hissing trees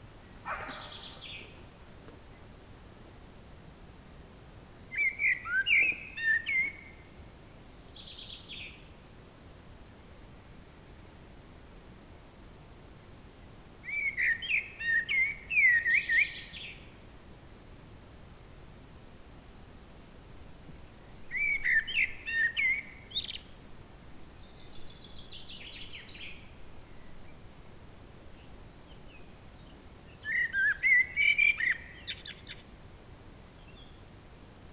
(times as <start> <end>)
0.0 2.5